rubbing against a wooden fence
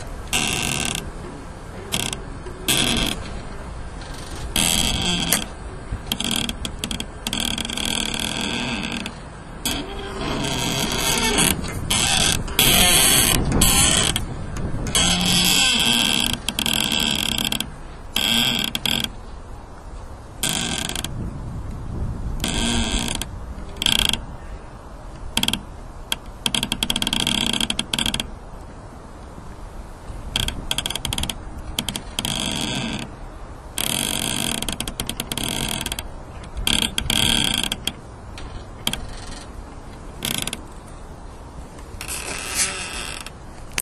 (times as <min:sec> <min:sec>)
0:00.0 0:19.2, 0:41.8 0:43.8